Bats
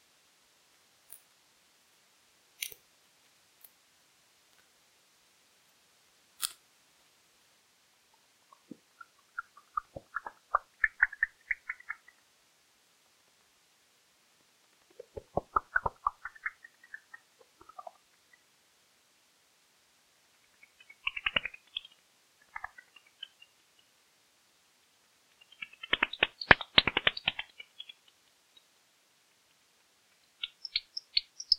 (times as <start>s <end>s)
25.4s 28.0s